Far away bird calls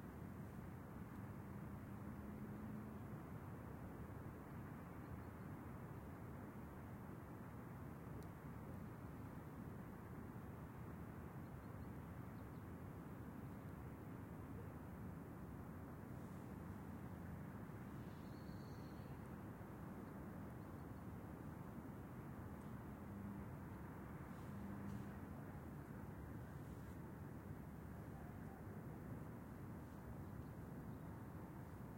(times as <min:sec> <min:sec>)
0:17.9 0:19.3